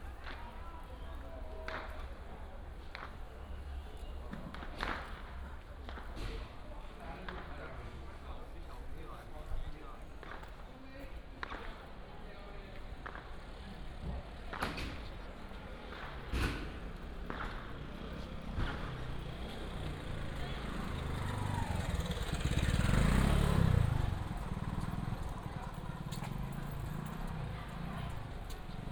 0.0s Many people attend the temple 28.9s
0.0s Traffic sound 28.9s
0.0s Walking in the small village 28.9s
0.1s firecrackers 8.8s
2.8s Fireworks 6.5s
7.1s Fireworks 8.2s
10.2s firecrackers 20.6s
12.8s Fireworks 19.5s

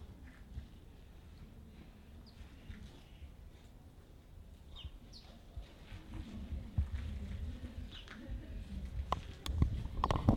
1.8s 2 sparrows on feeder 3.7s
4.6s 2 sparrows on feeder 5.5s

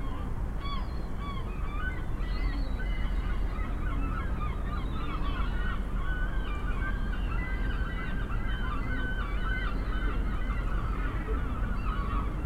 0.0s excited gulls 12.4s

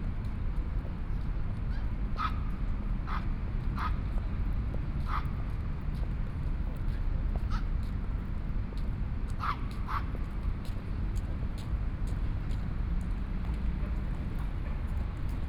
0.0s Pedestrian 15.4s
9.7s Traffic Sound 15.4s

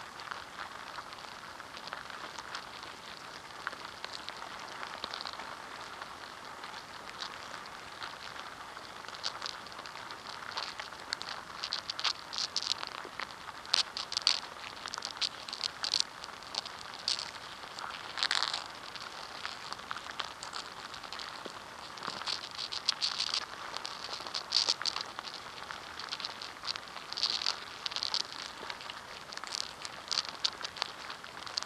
0.0s Inside an ants nest 31.6s

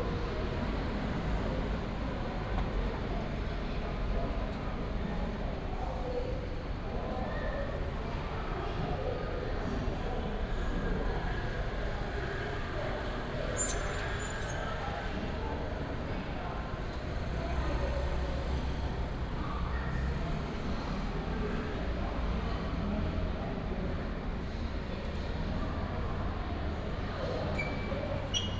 9.1s traffic sound 27.2s

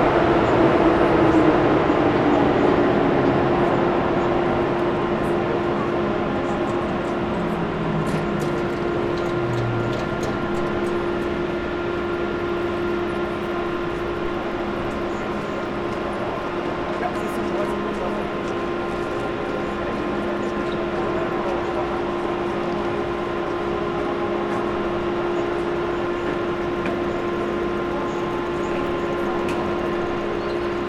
0.0s much more people 30.8s

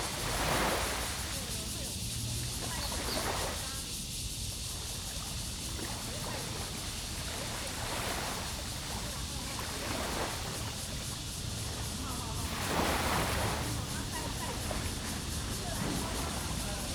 0.0s Cicadas cry 16.9s
0.0s Tide 16.9s

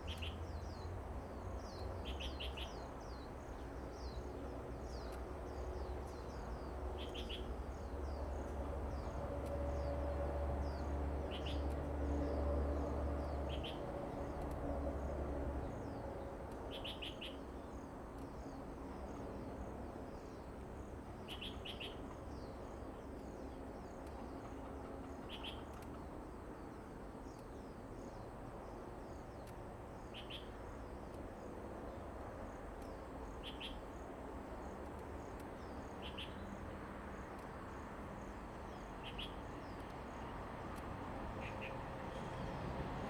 0.2s Traveling by train 43.0s
16.7s Birdsong sound 40.3s
29.4s Traffic Sound 43.0s
41.4s Birdsong sound 42.7s

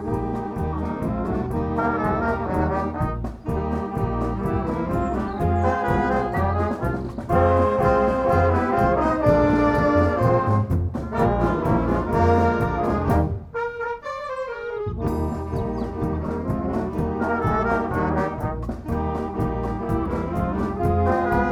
0.0s brass bands easter concert 21.5s

